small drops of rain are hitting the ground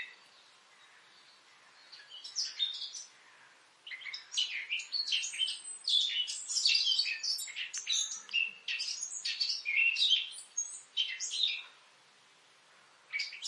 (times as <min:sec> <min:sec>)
0:07.3 0:13.4